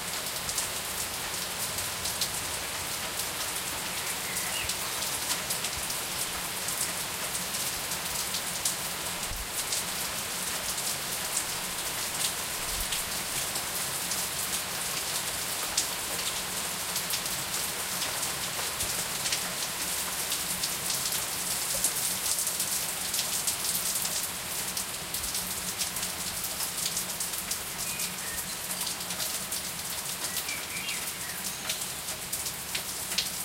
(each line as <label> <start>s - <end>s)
Heavy rain is falling 0.0s - 33.4s
blackbird singing 3.9s - 4.8s
blackbird singing 27.8s - 28.7s
blackbird singing 30.3s - 31.8s